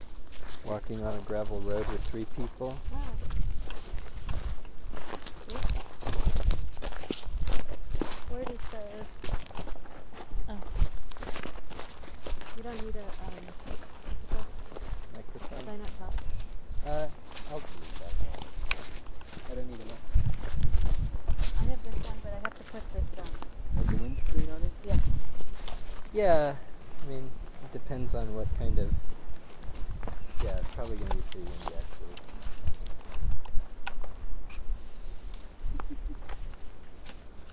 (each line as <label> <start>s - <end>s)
footsteps 0.0s - 37.5s